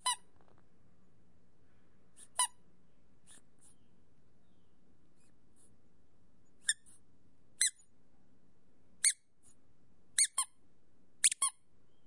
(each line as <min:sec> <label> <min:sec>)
0:00.0 rubber squeaky toy being squeezed 0:00.3
0:02.2 rubber squeaky toy being squeezed 0:02.6
0:06.6 rubber squeaky toy being squeezed 0:07.0
0:07.6 rubber squeaky toy being squeezed 0:07.8
0:10.2 rubber squeaky toy being squeezed 0:10.6
0:11.2 rubber squeaky toy being squeezed 0:11.6